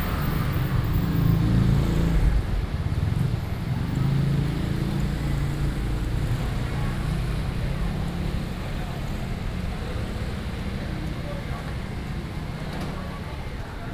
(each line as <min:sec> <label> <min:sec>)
0:00.0 Traffic Sound 0:06.4